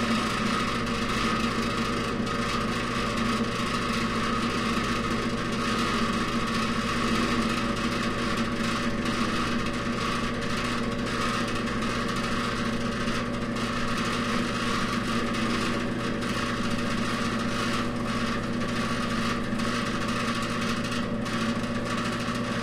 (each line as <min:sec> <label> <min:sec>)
0:00.0 old heater fan 0:22.6